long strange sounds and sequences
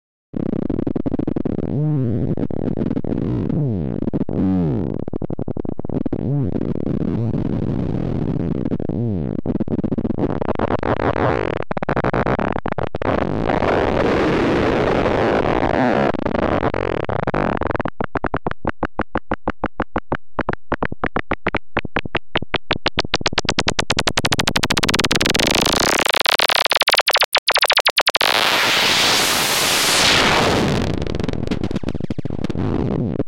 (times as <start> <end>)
22.5 32.7